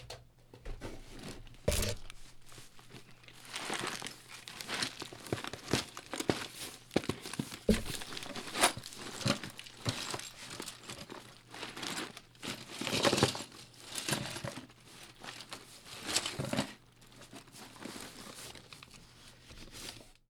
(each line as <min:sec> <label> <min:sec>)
0:01.7 Glass being manipulated in a box 0:06.5
0:07.2 Glass being manipulated in a box 0:12.2
0:07.7 thunks 0:09.6